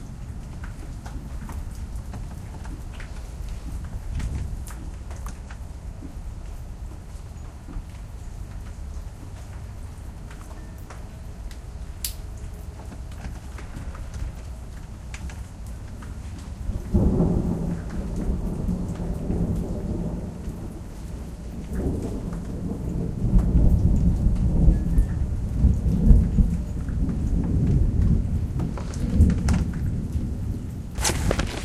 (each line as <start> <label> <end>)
16.3 thunder 31.6